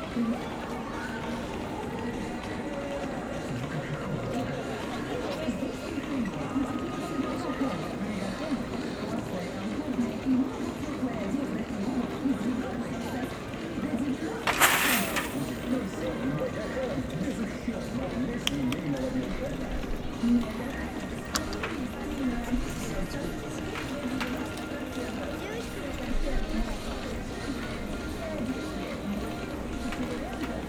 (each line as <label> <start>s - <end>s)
walking people 0.0s - 30.6s
scattering of small coins 14.5s - 15.7s